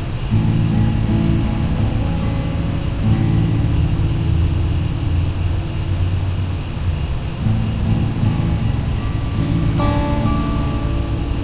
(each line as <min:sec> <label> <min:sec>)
0:00.0 acoustic guitar strumming 0:11.4
0:00.0 cicadas 0:11.4
0:00.0 crickets 0:11.4